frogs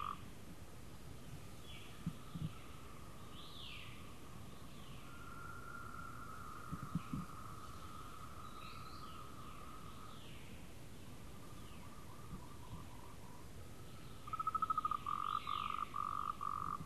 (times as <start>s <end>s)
0.0s 0.2s, 5.0s 10.1s, 14.2s 16.8s